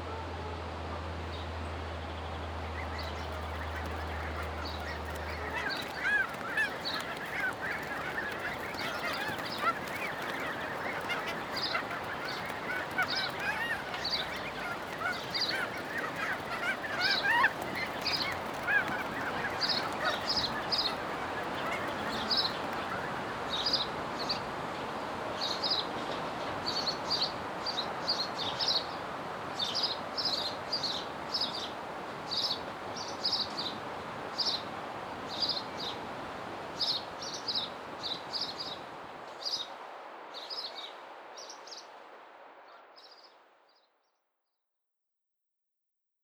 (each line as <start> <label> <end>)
1.2 birds at and around the nearby pond 24.5